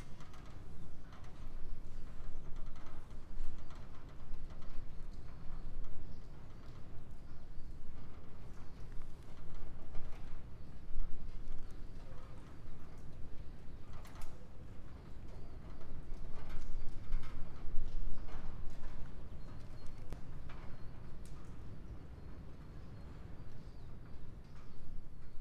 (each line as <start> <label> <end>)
0.0 wind is roraring 25.4